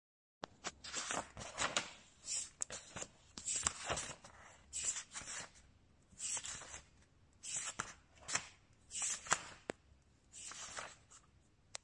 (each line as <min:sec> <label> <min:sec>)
0:00.4 flip through a book 0:05.6
0:06.2 flip through a book 0:09.8
0:10.4 flip through a book 0:11.4